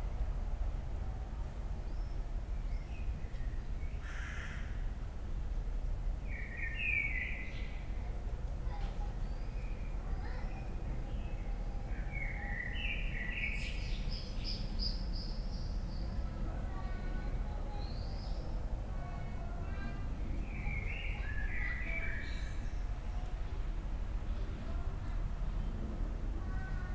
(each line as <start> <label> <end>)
4.0 crows 4.8